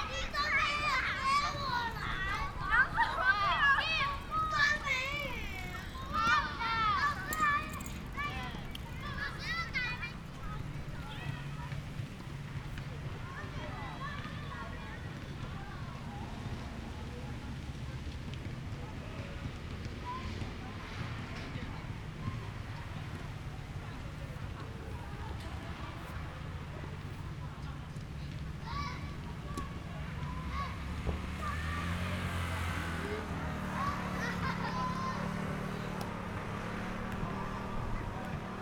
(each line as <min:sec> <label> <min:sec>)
0:00.0 Tennis sounds 0:12.9
0:00.0 Students are playing basketball 0:38.6
0:00.0 Traffic Sound 0:38.6